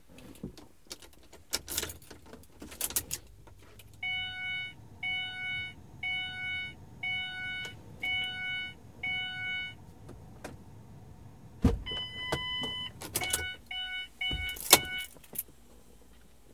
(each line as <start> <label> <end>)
2.9 interior electronic noises turning on and off 15.2